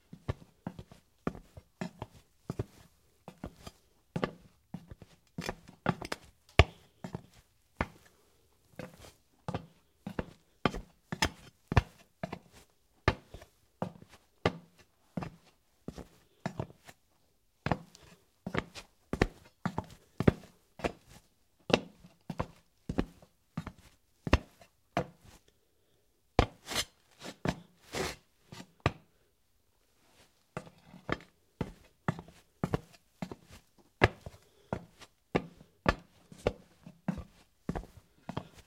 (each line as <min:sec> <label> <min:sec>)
0:30.6 woman's dress shoes walking on ceramic tile 0:38.6